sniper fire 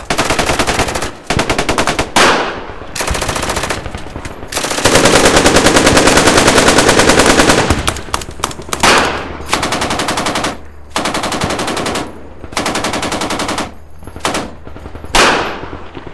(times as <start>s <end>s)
0.0s 9.7s, 13.6s 16.1s